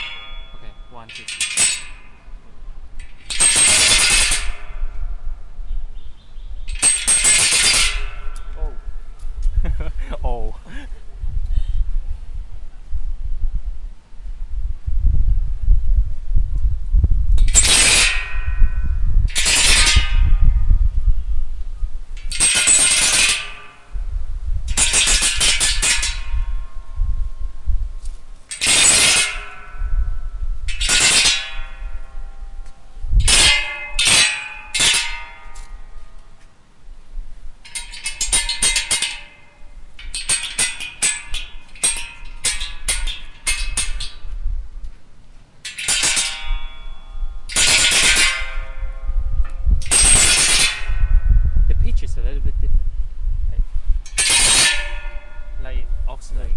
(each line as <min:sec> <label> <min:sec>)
0:00.0 Metal-fence sticks 2 0:02.2
0:03.0 Metal-fence sticks 2 0:05.0
0:06.7 Metal-fence sticks 2 0:08.8
0:17.4 Metal-fence sticks 2 0:18.6
0:22.2 Metal-fence sticks 2 0:23.9
0:24.7 Metal-fence sticks 2 0:26.5
0:28.5 Metal-fence sticks 2 0:29.8
0:30.7 Metal-fence sticks 2 0:35.8
0:37.6 Metal-fence sticks 2 0:44.2
0:45.6 Metal-fence sticks 2 0:49.0
0:49.8 Metal-fence sticks 2 0:51.2
0:54.1 Metal-fence sticks 2 0:55.5